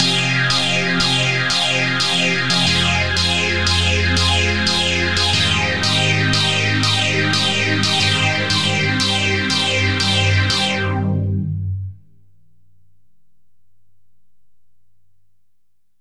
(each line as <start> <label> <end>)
0.0 Phaser chord 12.0